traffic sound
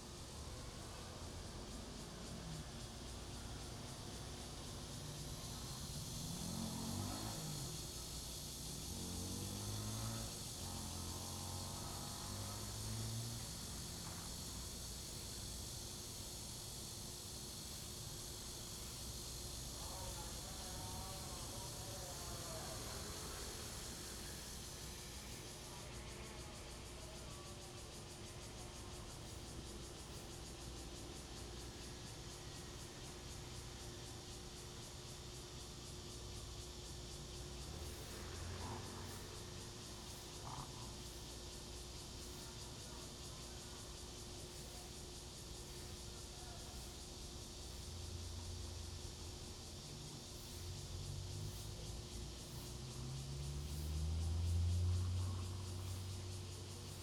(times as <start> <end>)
28.4 57.0